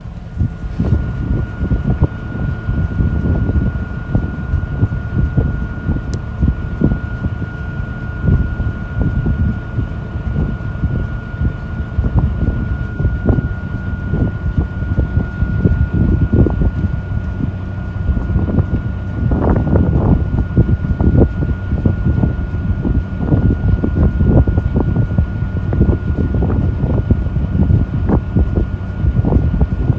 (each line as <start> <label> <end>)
0.0 Ferry taking passengers and vehicles across the bay 29.9
0.0 engine 29.9
0.0 water 29.9